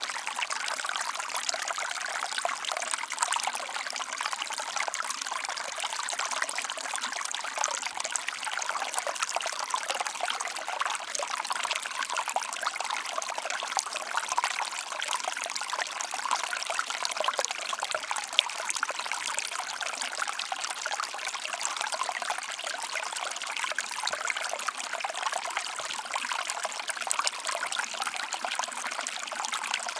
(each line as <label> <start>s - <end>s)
Murmel Stream Small Water 0.0s - 29.9s